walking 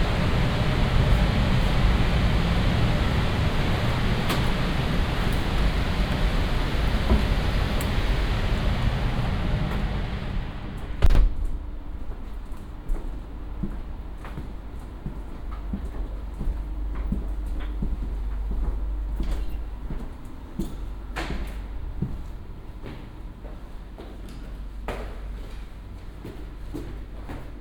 12.0 27.6

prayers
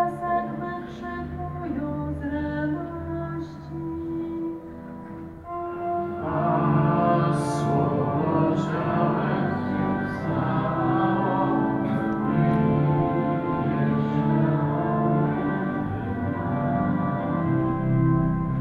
6.1 17.7

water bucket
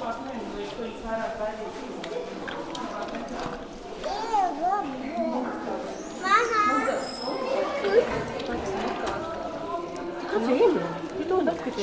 0.4 4.3

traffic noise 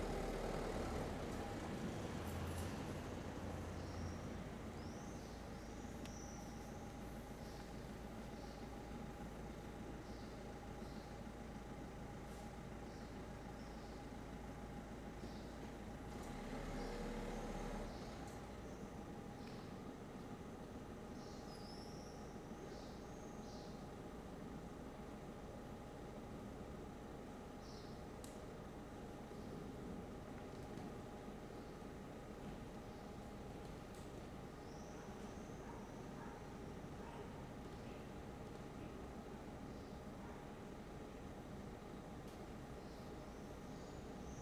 0.0 6.0, 14.6 20.0

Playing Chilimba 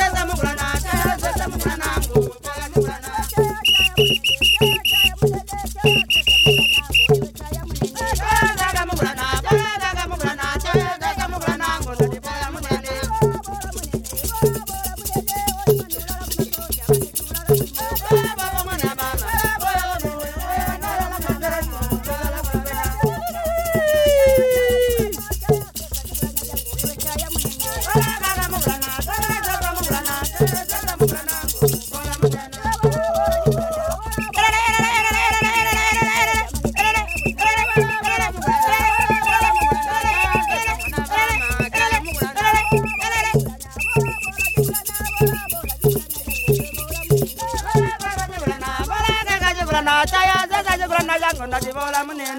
23.0 25.3

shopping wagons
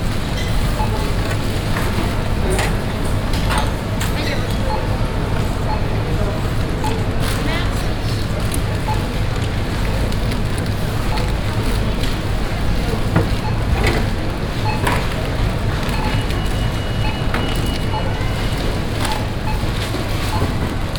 5.5 20.9

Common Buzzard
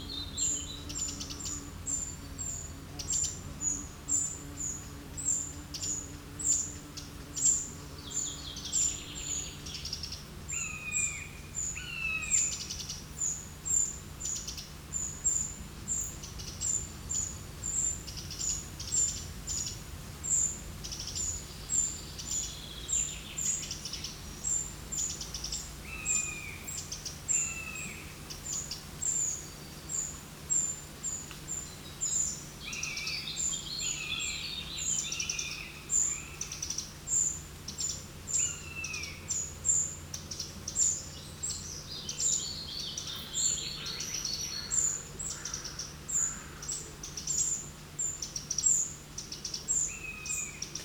43.0 47.6

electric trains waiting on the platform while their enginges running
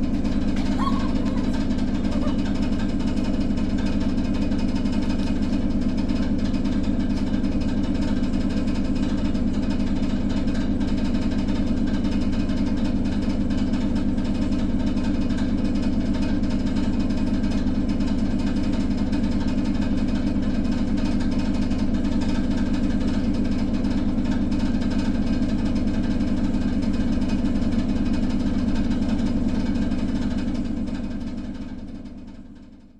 0.1 4.6

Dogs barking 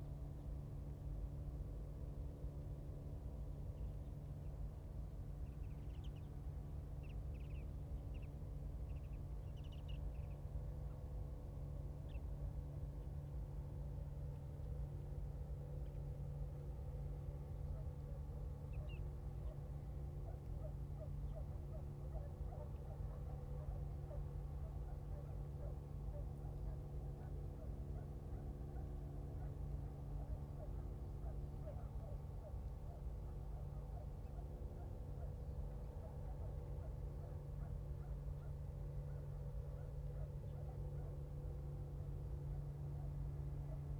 21.3 29.6, 30.2 35.3

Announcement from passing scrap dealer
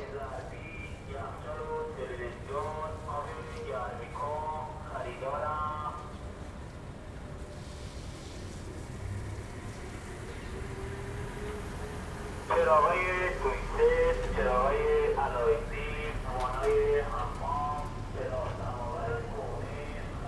12.5 20.1

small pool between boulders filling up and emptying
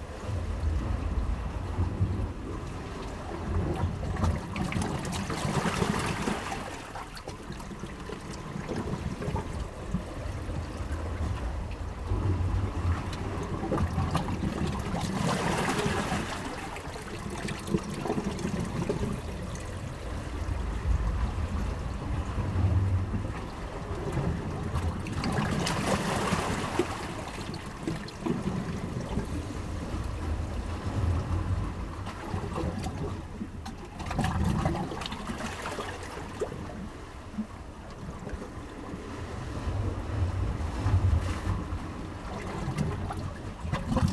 24.6 44.1

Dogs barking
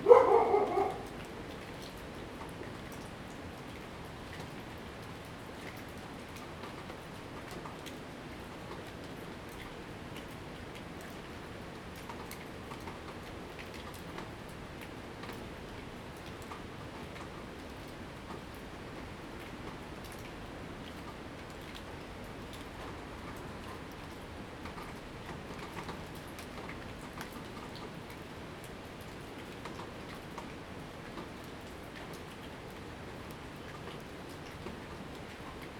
0.0 1.5

